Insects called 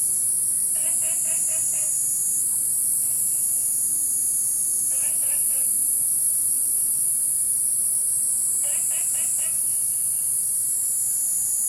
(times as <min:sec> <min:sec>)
0:00.3 0:06.3, 0:08.2 0:10.6